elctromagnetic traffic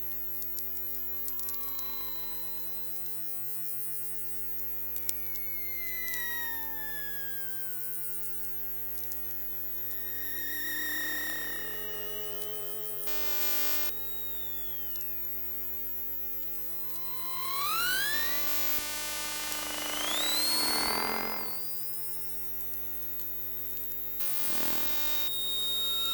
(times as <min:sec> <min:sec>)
0:01.0 0:03.4, 0:05.2 0:15.0, 0:16.5 0:22.0, 0:24.2 0:26.1